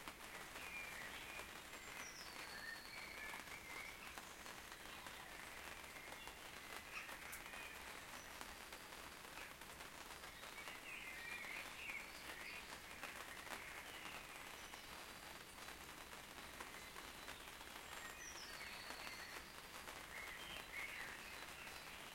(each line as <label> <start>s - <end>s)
Soft Rain on a Tent 0.0s - 22.1s
Bird Singing 0.8s - 4.0s